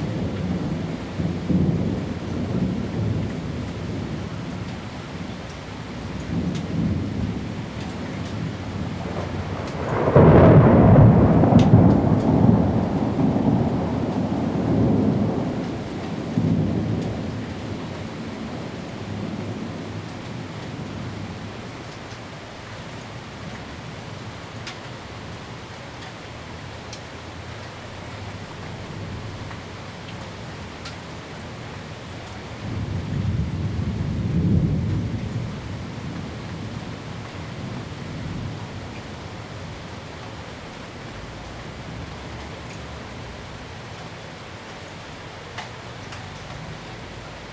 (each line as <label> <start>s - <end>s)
thunderstorms 0.0s - 21.9s
thunderstorms 32.1s - 44.2s